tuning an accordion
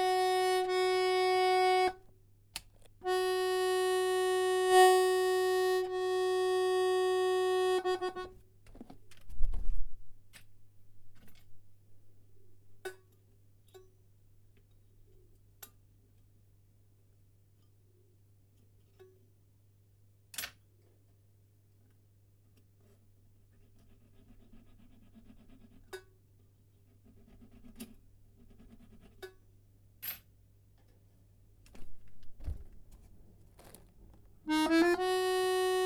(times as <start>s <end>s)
0.0s 2.1s, 2.8s 8.4s, 31.8s 35.8s